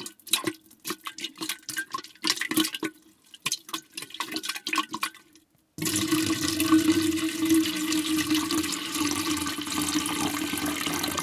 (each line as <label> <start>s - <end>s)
Pouring water from jug 5.8s - 11.2s